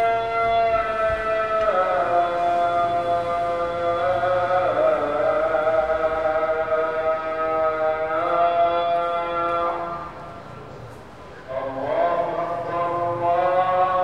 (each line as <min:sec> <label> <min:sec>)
0:00.0 Muezzin call 0:10.2
0:00.0 Pedestrians 0:14.0
0:00.0 Traffic 0:14.0